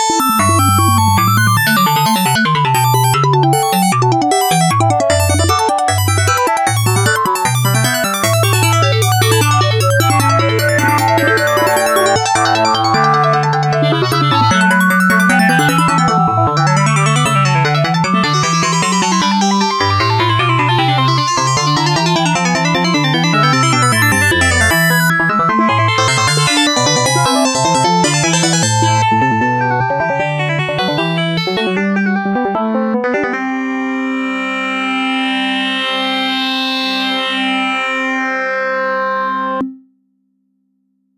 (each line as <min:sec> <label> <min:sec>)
0:00.0 Arp 2600 synthesizer 0:39.8